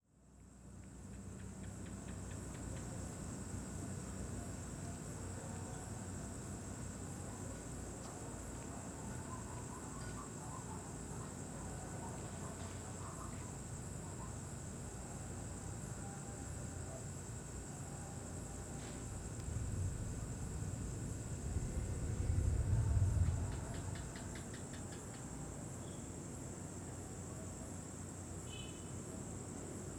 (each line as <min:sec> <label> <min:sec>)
0:00.0 insects 0:29.9
0:18.4 traffic hum 0:25.5
0:18.8 Distant thunder 0:24.8